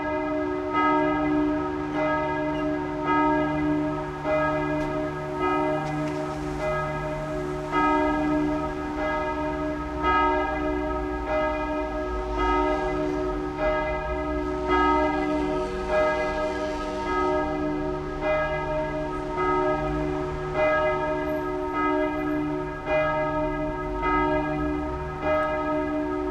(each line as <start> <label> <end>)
0.0 Church bell ringing 26.3